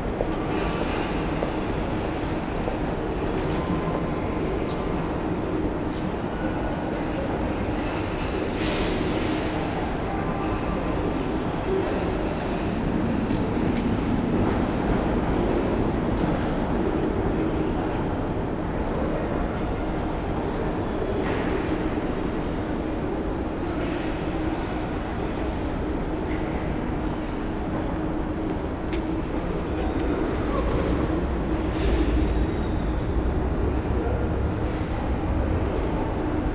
traffic above 25.2 - 36.5
commuters passing by 28.1 - 36.5

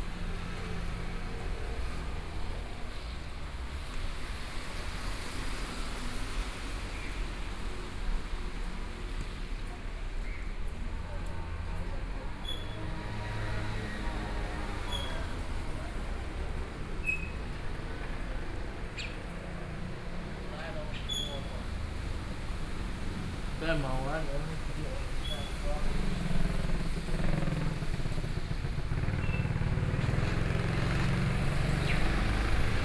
Traffic Noise 0.0 - 32.8
walking in the Street 0.0 - 32.8

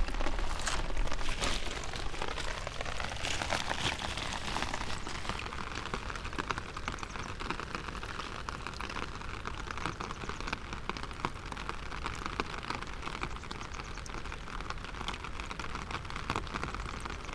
umbrella 0.0 - 6.4
rain 0.0 - 17.3

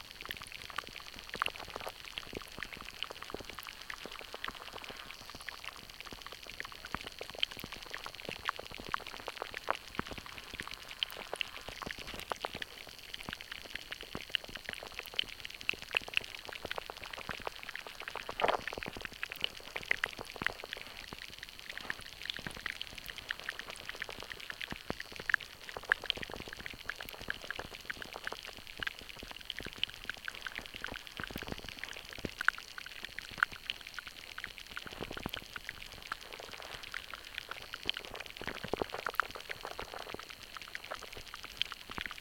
small shallow stream 0.0 - 42.2
underwater life 0.0 - 42.2

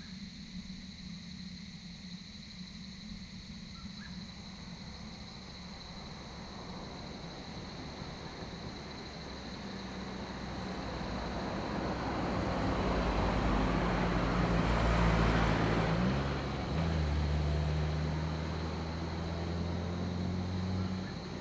Cicadas cry 0.0 - 21.4
Insect noise 0.0 - 21.4
traffic sound 4.8 - 21.4

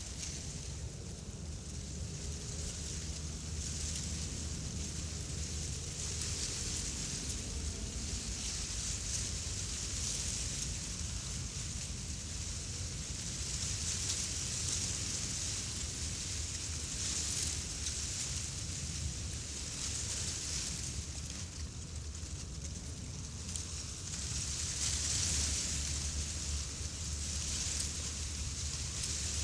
wind comes through the grass 0.0 - 29.4

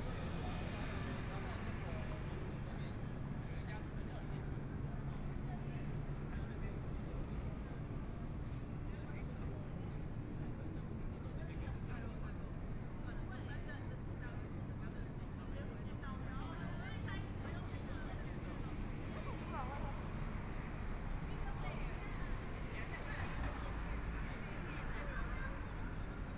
A lot of people in the street 0.0 - 26.3

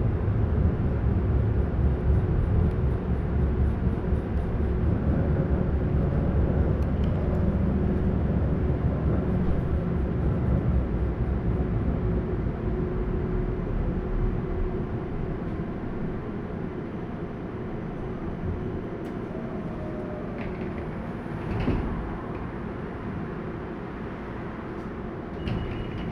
Tram ride 0.0 - 26.1

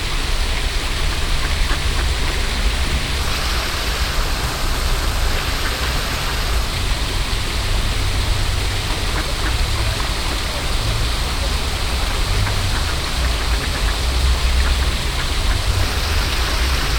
water spraying and floating 0.0 - 16.9
ducks cackle 1.1 - 3.6
ducks cackle 8.8 - 16.9
two old men feeding the ducks are talking 8.8 - 14.0

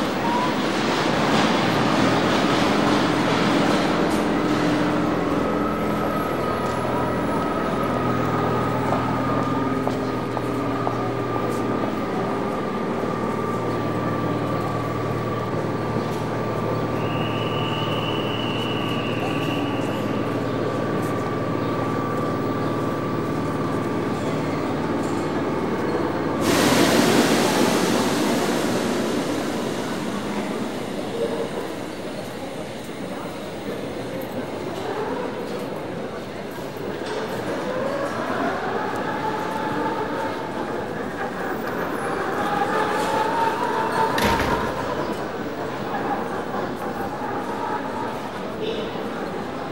train arrives 0.0 - 49.7
voices 0.0 - 49.7
announcements 3.6 - 34.2

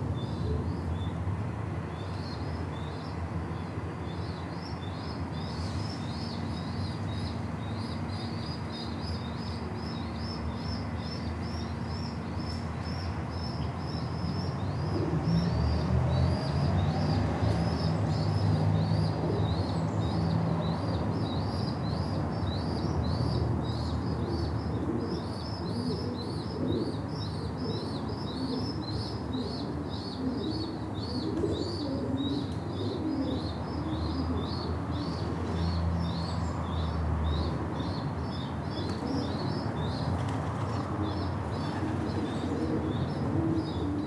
traffic rumble 0.0 - 44.0
fluttering and cooing of the adults 24.8 - 34.8
fluttering and cooing of the adults 38.8 - 44.0

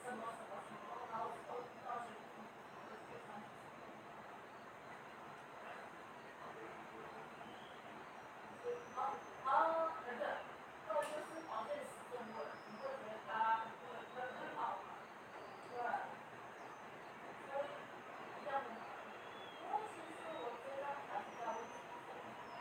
Taiwan Whistling Thrush 7.4 - 9.5
Taiwan Whistling Thrush 18.4 - 22.6

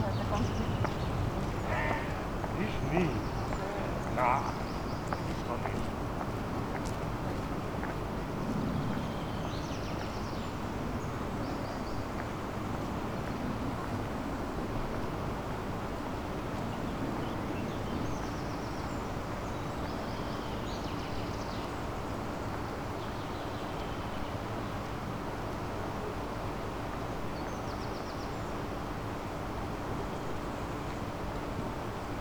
tourists 0.0 - 10.3
wupper river 0.0 - 32.2
nearby weir 1.5 - 4.6

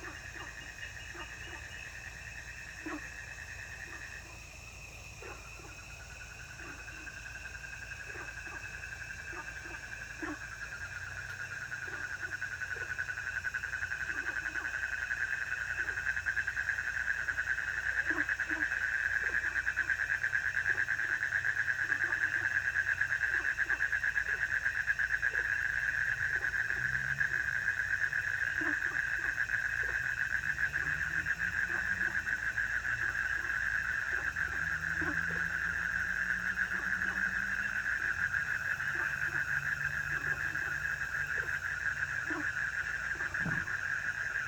Frogs chirping 0.0 - 44.4
insects 0.0 - 44.4

